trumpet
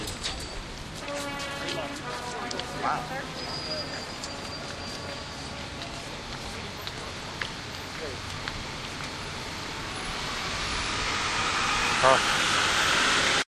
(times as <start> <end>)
1.0 5.8